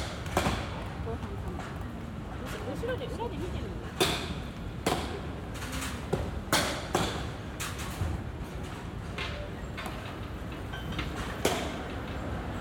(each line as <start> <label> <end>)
0.0 Baseball Batting Practice 2.7
3.8 Baseball Batting Practice 12.6